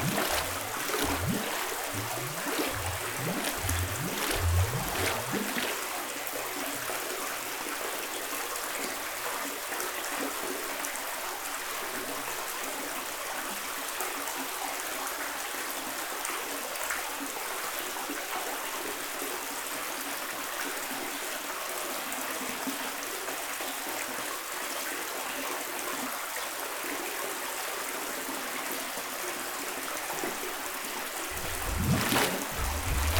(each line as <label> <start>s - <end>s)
very strange bubbles system, in a water tank 0.0s - 6.1s
very strange bubbles system, in a water tank 31.3s - 33.1s